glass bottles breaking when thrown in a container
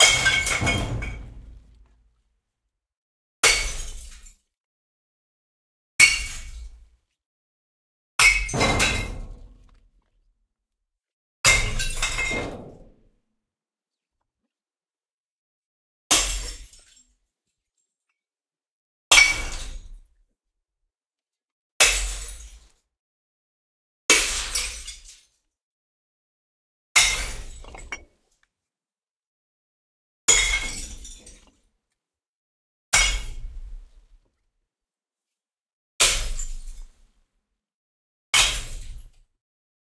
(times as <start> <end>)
0.0 1.9, 8.2 9.8, 11.5 12.6, 27.0 28.0, 30.4 31.4